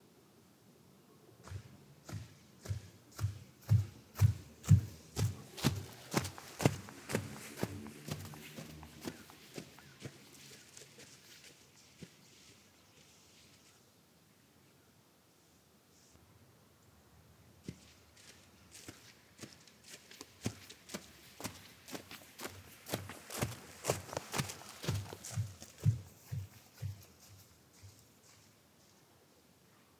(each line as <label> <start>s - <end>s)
Angry walking 3.2s - 10.3s
Angry walking 21.0s - 27.2s